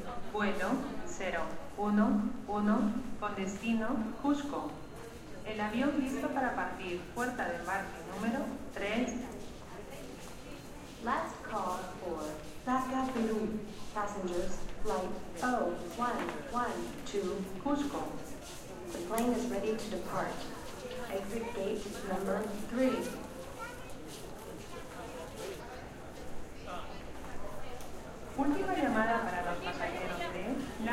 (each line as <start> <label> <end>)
0.3 flight announcements 4.8
11.0 flight announcements 18.2